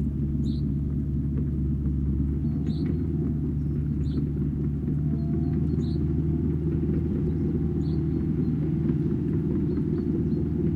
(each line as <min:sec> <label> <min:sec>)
0:00.0 steel tracked 6 ton excavator traveling from right to left 0:10.7